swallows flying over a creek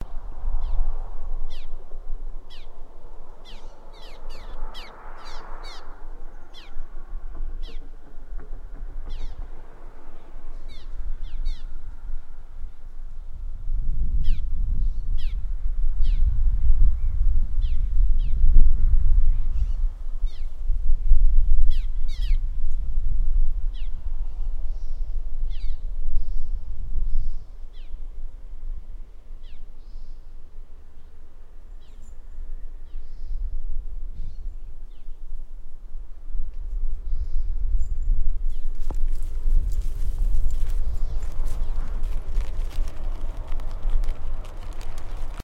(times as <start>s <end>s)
0.0s 12.9s